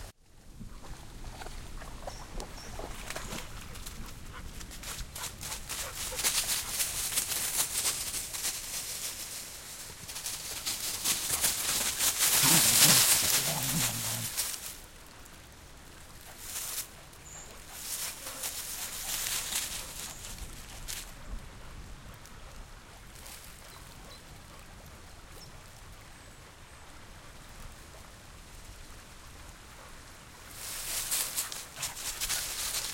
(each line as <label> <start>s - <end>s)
water 0.0s - 4.7s
Dogs running 2.4s - 14.8s
Dogs running 16.3s - 21.1s
Dogs running 30.6s - 32.9s